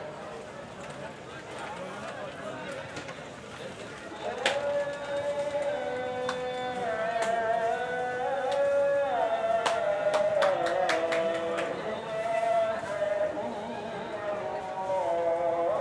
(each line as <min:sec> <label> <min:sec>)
0:04.2 Call to Prayer 0:15.8